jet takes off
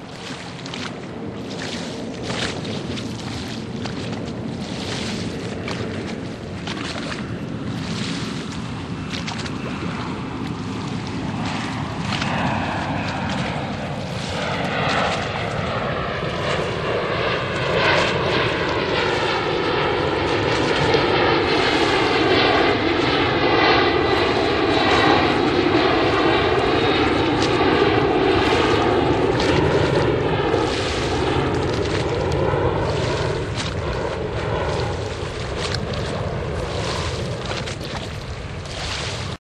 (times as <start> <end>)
10.0 37.4